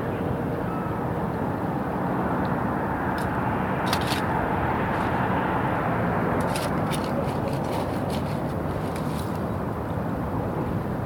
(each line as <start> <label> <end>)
3.2 Digging for bivalves 5.4
6.3 Digging for bivalves 9.5